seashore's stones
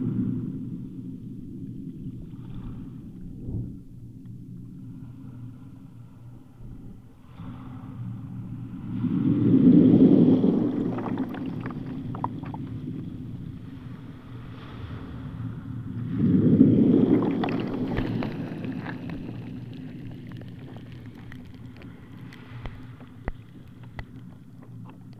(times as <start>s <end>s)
9.0s 15.5s, 16.1s 25.1s